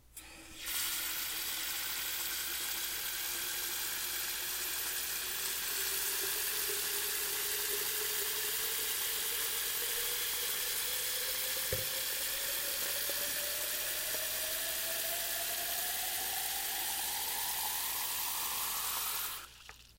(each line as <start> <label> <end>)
0.2 Filling a vase up with water from a bathtub faucet 19.9